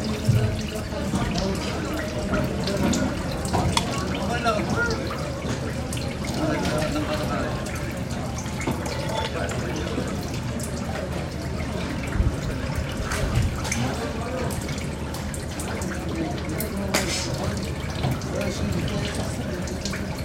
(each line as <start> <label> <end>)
0.0 boat 20.2